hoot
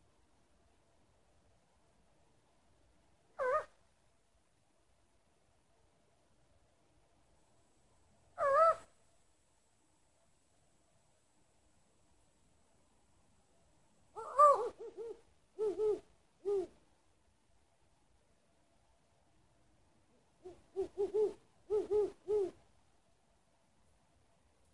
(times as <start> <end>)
3.4 3.8, 8.4 8.9, 14.2 16.8, 20.4 22.6